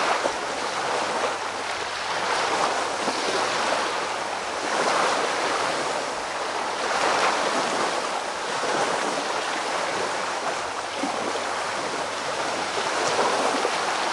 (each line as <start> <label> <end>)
0.0 waves splashing on the shore 14.1